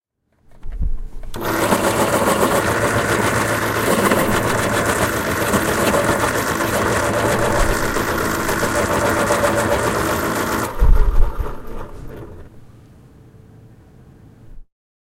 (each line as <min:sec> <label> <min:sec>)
0:01.3 electric pencil sharpener 0:12.5